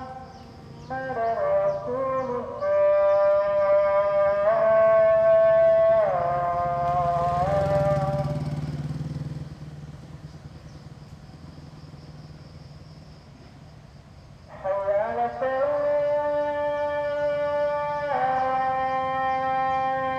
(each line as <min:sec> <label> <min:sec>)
0:00.0 muezzin 0:08.9
0:14.5 muezzin 0:20.1